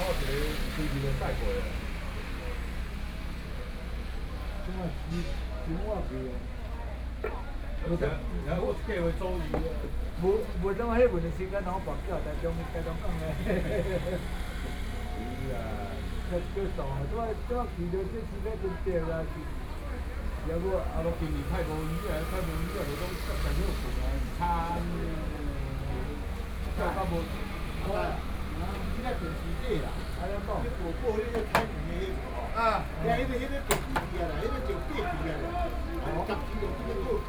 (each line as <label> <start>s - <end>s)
taxi drivers chatting 0.0s - 37.2s